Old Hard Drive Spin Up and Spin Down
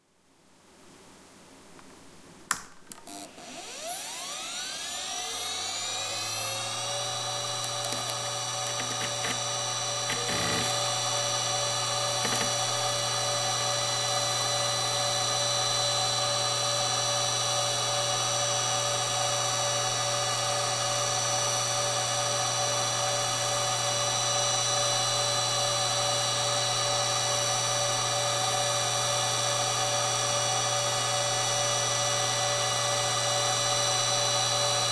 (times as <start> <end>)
3.0 17.2